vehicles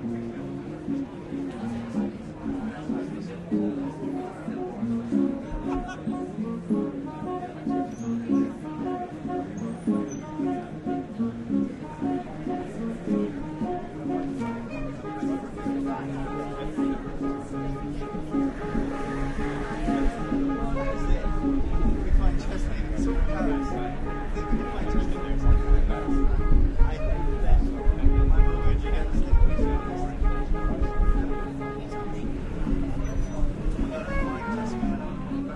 17.5 23.0, 30.1 35.5

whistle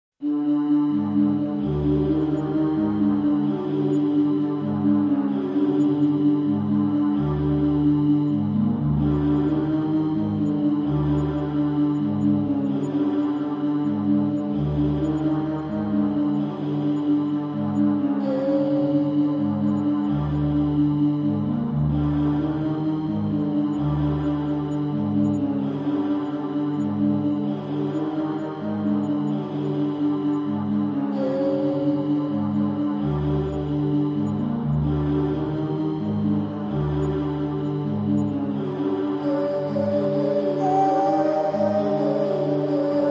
39.2 43.1

